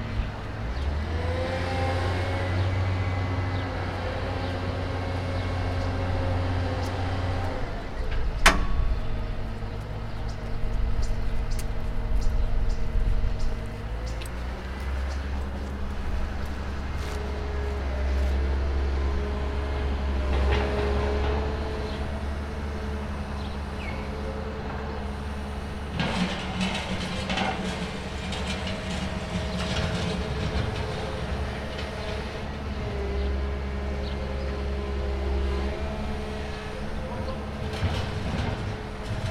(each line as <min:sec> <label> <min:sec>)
0:00.0 Noises of the renovation works 0:39.3
0:00.0 heavy machinery in the background 0:39.3